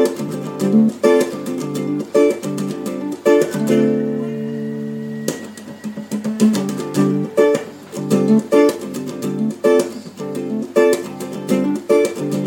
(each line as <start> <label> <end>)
0.0 guitar experiments 12.4